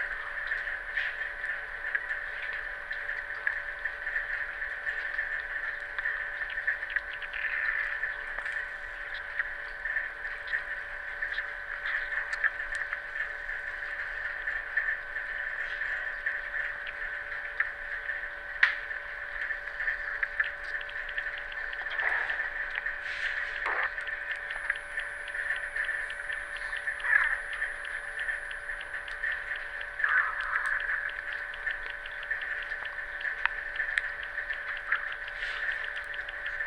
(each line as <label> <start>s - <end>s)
strange 10 kHz hiss 18.8s - 36.6s